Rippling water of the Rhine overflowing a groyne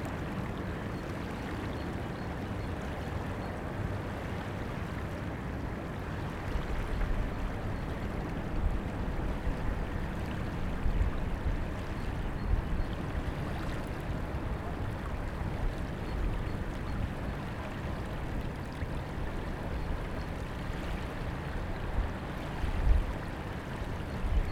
0:06.6 0:24.5

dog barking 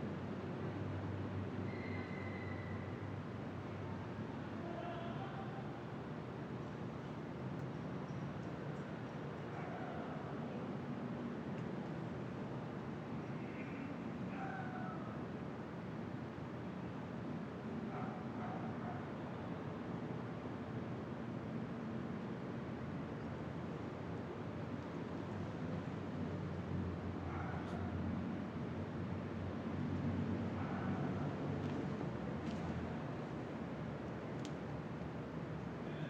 0:09.5 0:10.2, 0:14.3 0:15.0, 0:17.9 0:19.1, 0:27.3 0:28.0, 0:30.6 0:31.2

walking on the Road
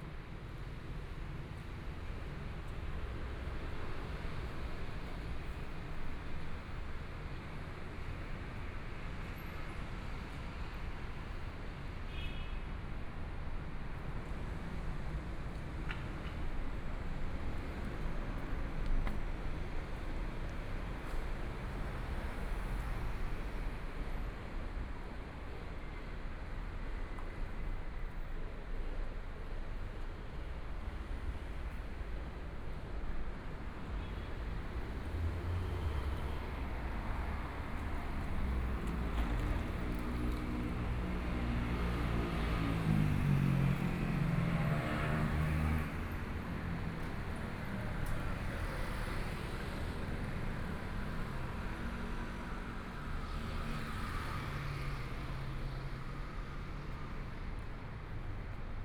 0:14.2 0:23.8, 0:30.8 0:51.8

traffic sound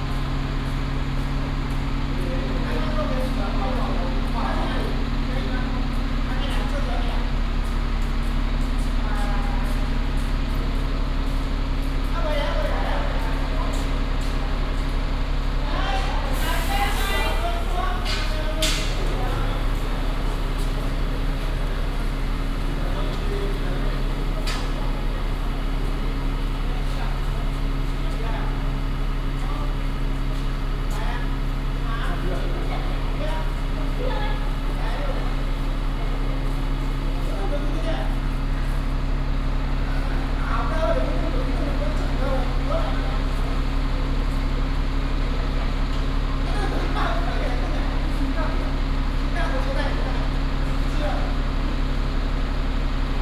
0:14.4 0:37.2

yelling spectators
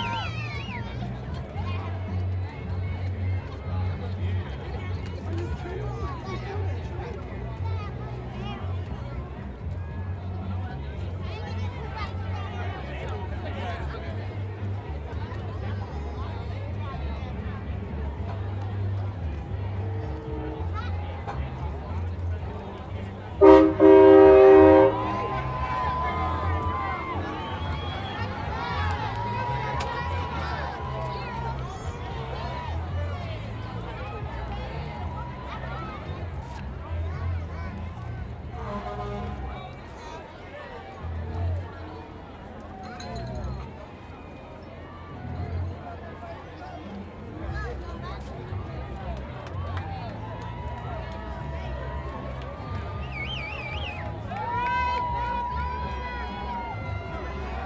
0:00.0 0:04.7, 0:18.0 0:57.6

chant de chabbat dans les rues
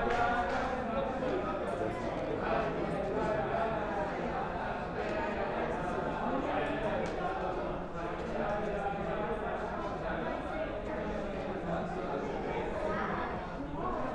0:00.0 0:08.9

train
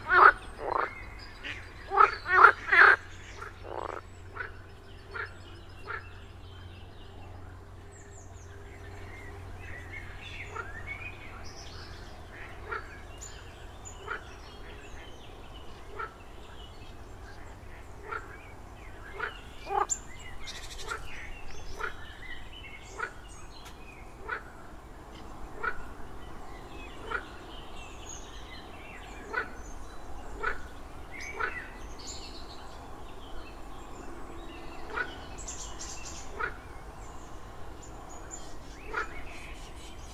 0:32.6 0:39.2

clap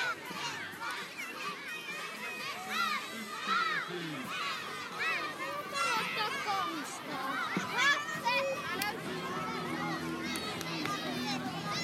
0:10.3 0:11.0

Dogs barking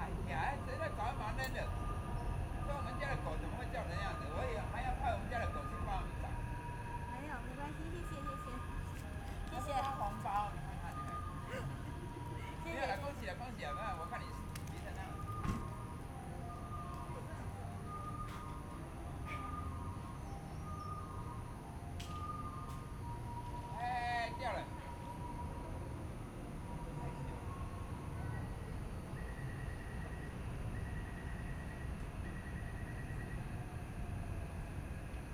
0:11.4 0:11.9

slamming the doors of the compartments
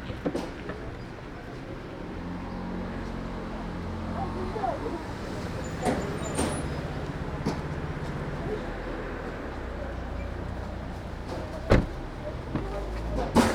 0:11.3 0:13.5

